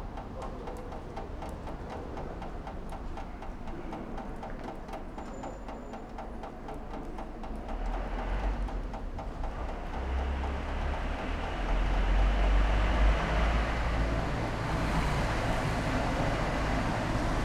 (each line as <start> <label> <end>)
0.1 water drips from rainwater pipe 13.1